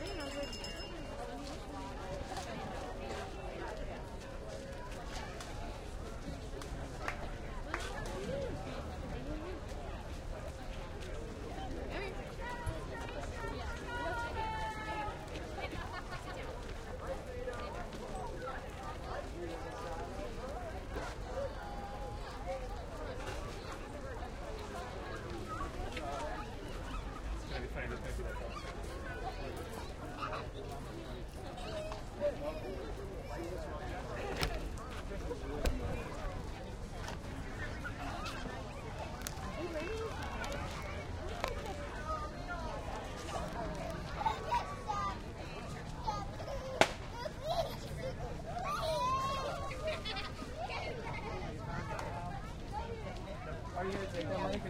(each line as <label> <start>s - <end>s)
People milling about buying and selling produce 0.0s - 54.6s